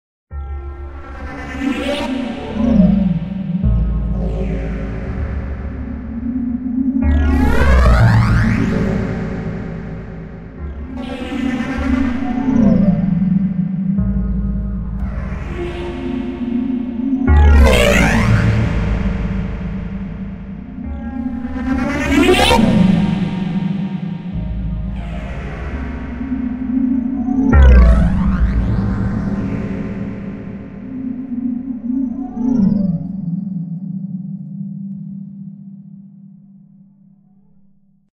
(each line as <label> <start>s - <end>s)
electronic beats 7.0s - 33.1s